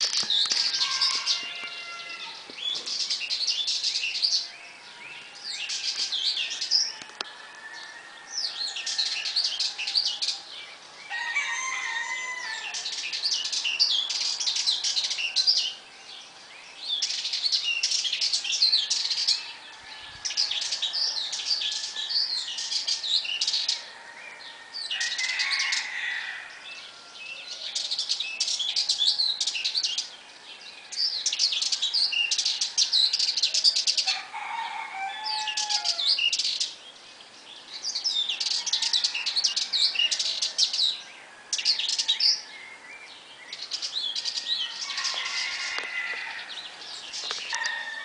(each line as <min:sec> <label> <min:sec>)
0:00.0 birds 0:48.0
0:00.5 rooster 0:02.4
0:11.1 rooster 0:12.8
0:23.9 rooster 0:27.6
0:34.0 rooster 0:36.2
0:44.5 rooster 0:46.6
0:47.5 rooster 0:48.0